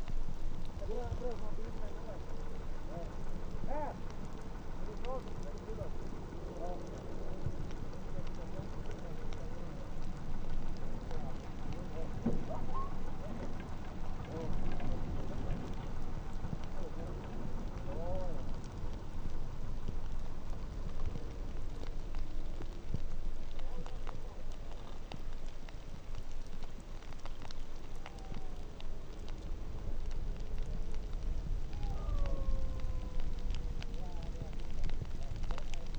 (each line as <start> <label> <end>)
0.0 rain on snow 35.9
0.0 snowplow 35.9
31.6 dogsled huskies crying 33.7